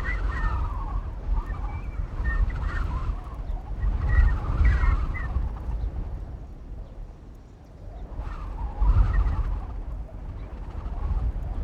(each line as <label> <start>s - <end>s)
Wind 0.0s - 11.6s